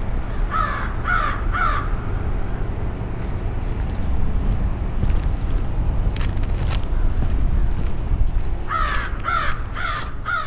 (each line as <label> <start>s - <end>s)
crows 0.4s - 1.9s
crows 8.7s - 10.4s